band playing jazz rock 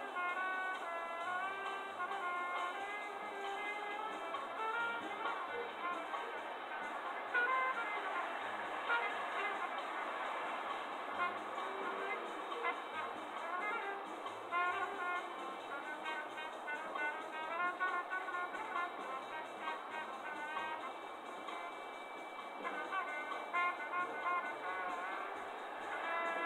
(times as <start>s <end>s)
0.0s 6.5s, 11.0s 20.8s, 22.6s 26.4s